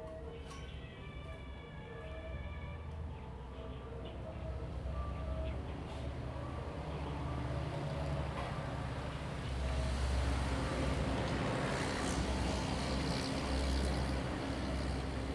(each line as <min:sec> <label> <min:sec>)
0:05.7 Traffic Sound 0:15.3